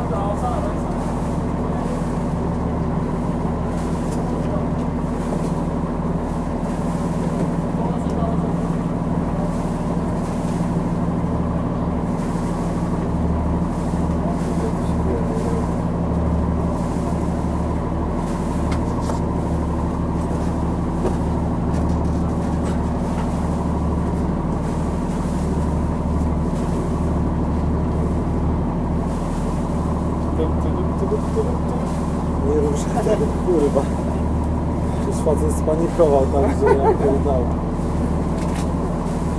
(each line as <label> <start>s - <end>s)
conversations 0.0s - 12.1s
boat 0.0s - 39.3s
conversations 13.9s - 18.5s
conversations 28.5s - 38.1s